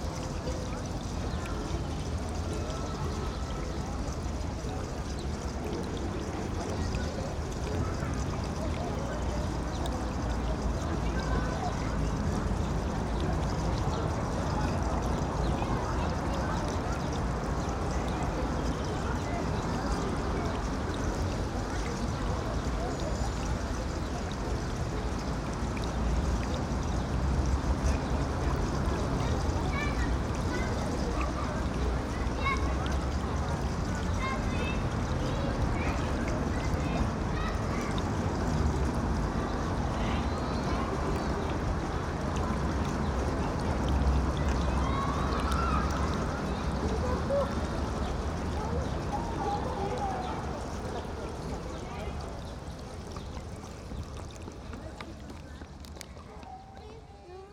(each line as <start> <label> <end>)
0.0 fountain 57.5